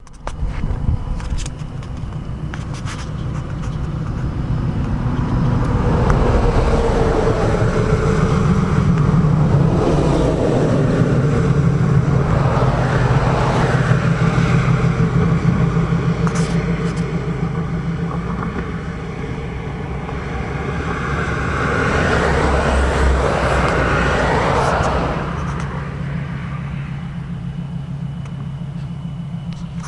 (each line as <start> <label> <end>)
0.0 cars 29.8